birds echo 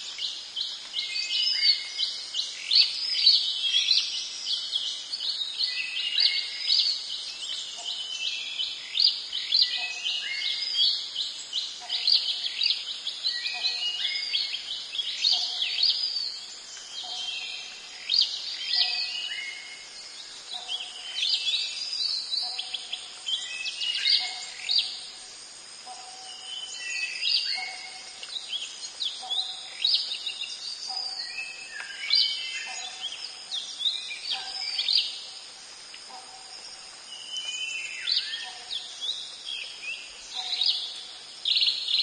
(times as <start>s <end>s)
0.0s 25.2s